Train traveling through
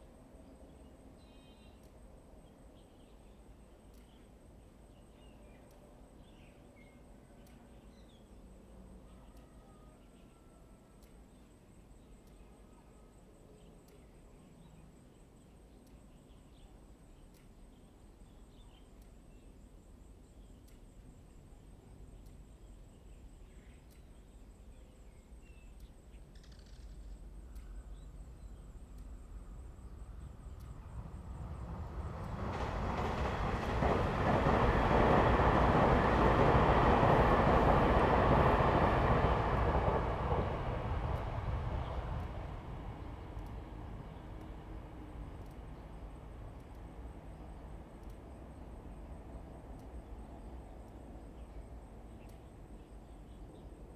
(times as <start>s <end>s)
26.9s 53.9s